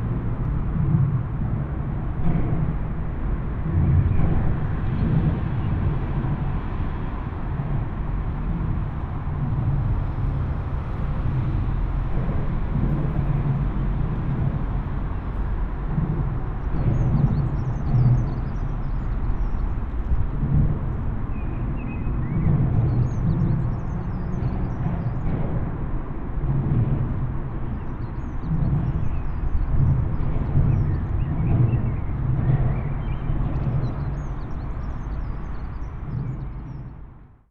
drones under bridge 0.0 - 37.4

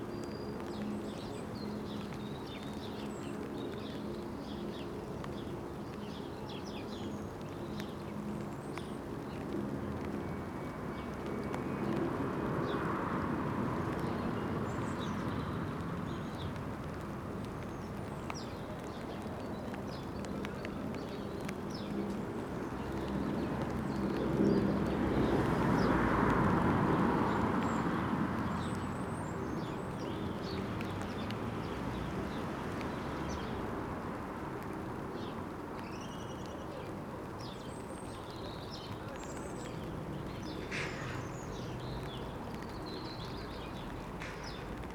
rain begins 0.0 - 44.9

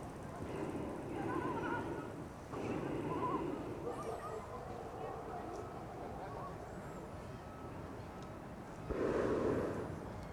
hot air balloons 0.0 - 4.1
hot air balloons 8.9 - 10.3

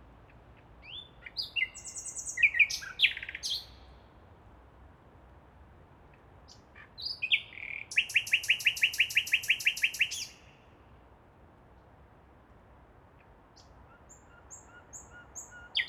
nightingale 0.8 - 3.9
nightingale 6.5 - 10.6
nightingale 13.6 - 15.8

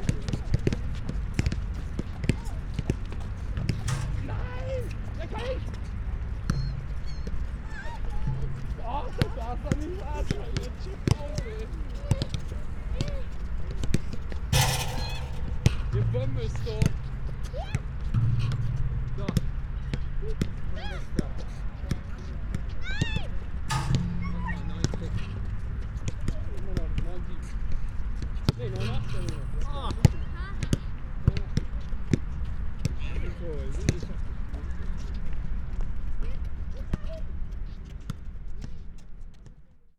kids and parents playing basket ball 0.0 - 18.0
ball hitting basket and bars 1.4 - 5.1
ball hitting basket and bars 14.5 - 17.1
kids and parents playing basket ball 19.2 - 27.4
ball hitting basket and bars 23.7 - 26.4
kids and parents playing basket ball 28.4 - 35.1
ball hitting basket and bars 28.5 - 30.7
kids and parents playing basket ball 36.1 - 38.8

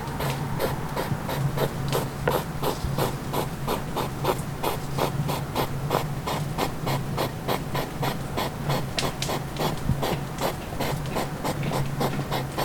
fire 8.8 - 9.8

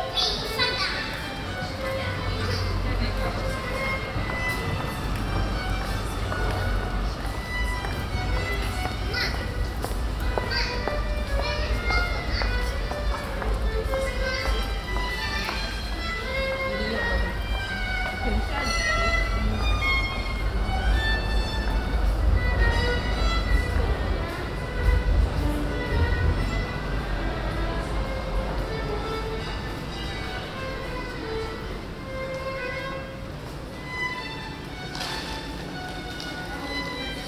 Pedestrians 0.0 - 37.2
violist 0.0 - 37.2

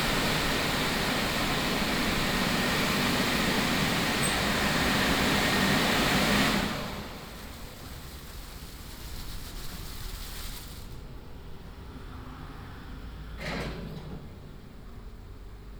car washing street 0.0 - 11.7

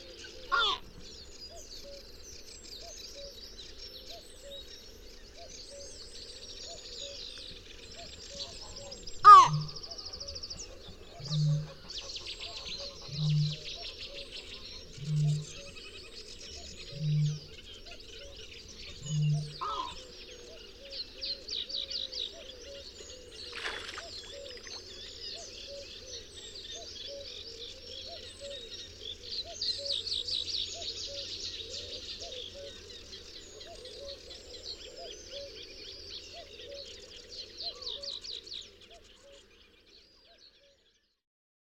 bitterns fly over, calling 0.0 - 2.2
bitterns fly over, calling 8.0 - 39.2

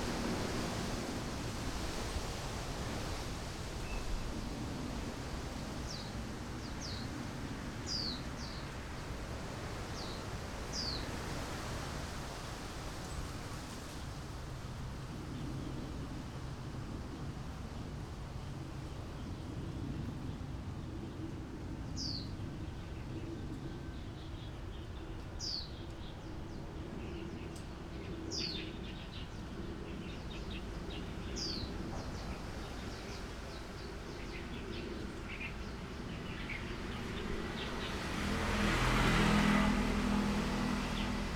Wind 0.0 - 41.3
Birds singing 22.0 - 38.3
Traffic Sound 34.1 - 41.3

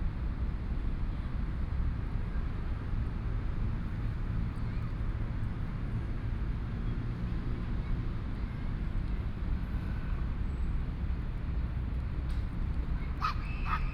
Pedestrian 0.0 - 13.9
Traffic Sound 3.1 - 13.9
Dogs barking 13.2 - 13.9

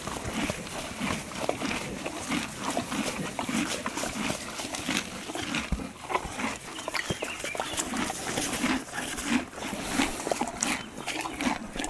Horses eating 0.0 - 11.8

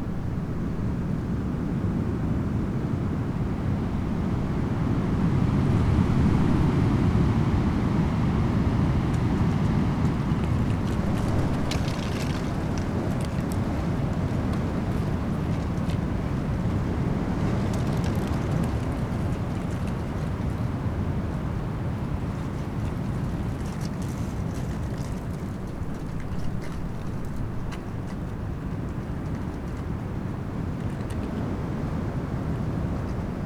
dry leaves during storm 7.6 - 29.8

